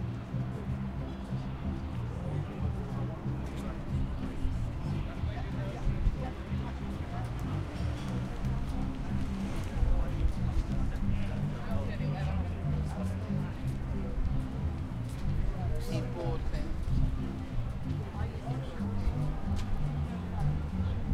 Traffic 0:00.0 - 0:21.1
people walking past 0:00.0 - 0:21.1

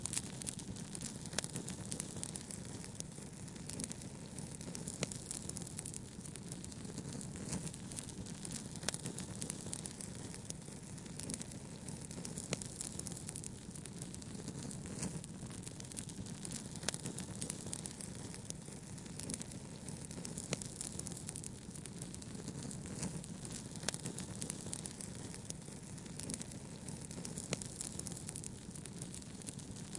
Campfire crackling 0:00.0 - 0:29.9

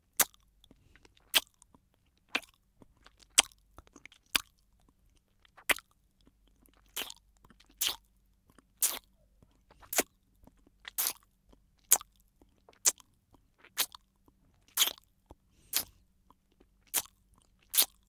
Lollipop Licking 0:06.7 - 0:08.0
Lollipop Licking 0:08.8 - 0:16.0
Lollipop Licking 0:16.8 - 0:18.0

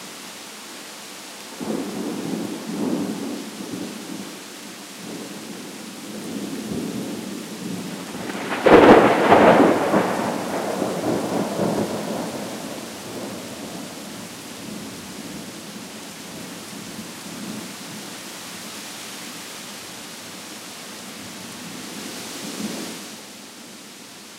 Trees swaying in wind 0:00.0 - 0:24.3
rain splashing 0:00.0 - 0:24.3
progressively louder sequences of thunder 0:07.7 - 0:14.0

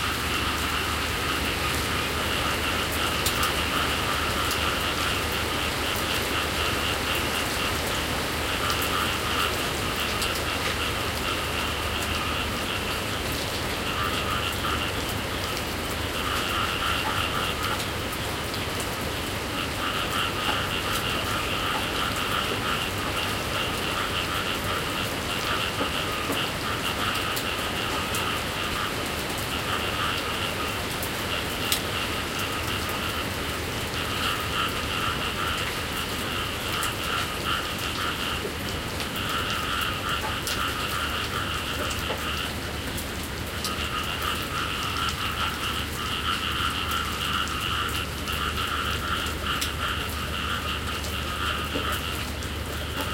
Frogs in the Ricefields 0:00.0 - 0:53.1
Rain decreasing 0:00.0 - 0:53.1

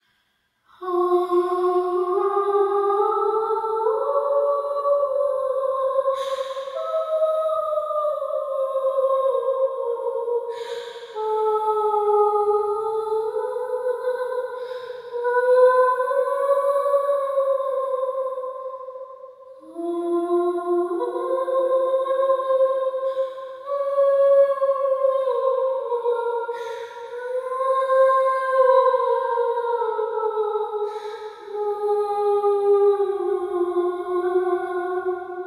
ghost sings to her baby 0:00.8 - 0:35.4

